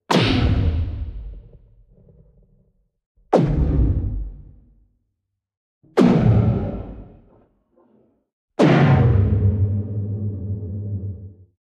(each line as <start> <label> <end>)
0.1 boom 1.7
6.0 boom 7.3